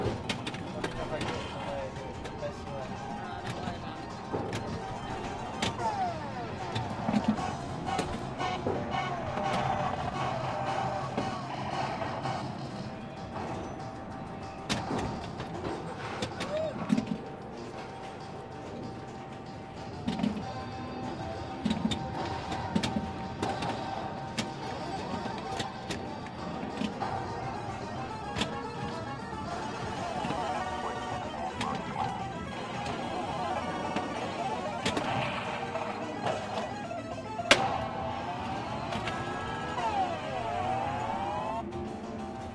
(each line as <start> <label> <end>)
0.0 pinball 42.5